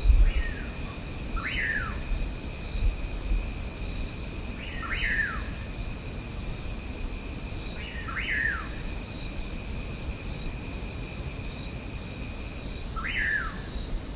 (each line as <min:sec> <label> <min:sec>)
0:00.0 bugs 0:14.1